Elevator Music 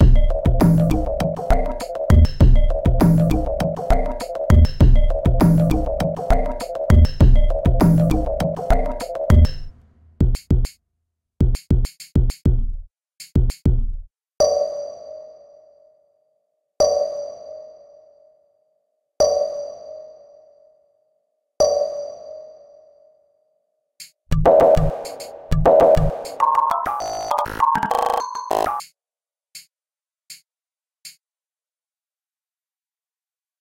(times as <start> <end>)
0.0 10.2, 24.3 28.7